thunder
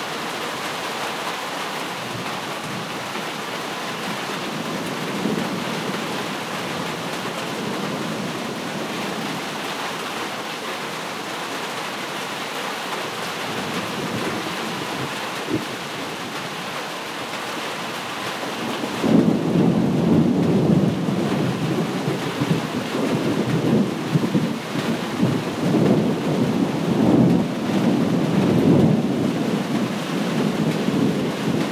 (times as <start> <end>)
19.0 31.7